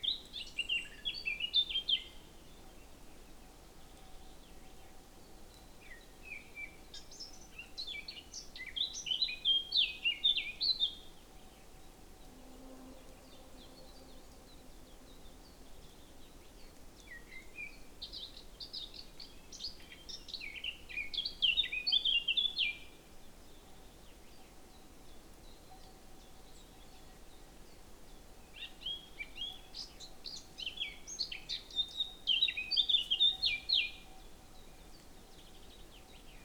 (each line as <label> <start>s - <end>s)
Birds 0.0s - 36.4s